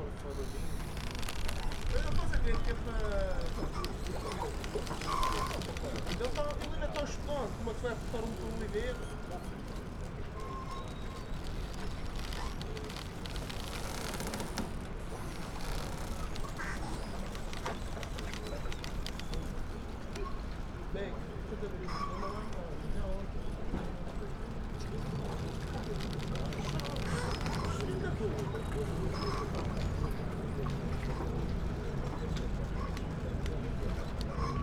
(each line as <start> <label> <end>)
0.0 catamaran arrival 34.6
0.0 crunching rope holding a boat to the pier 34.6
0.0 yacht hulls rubbing against each other 34.6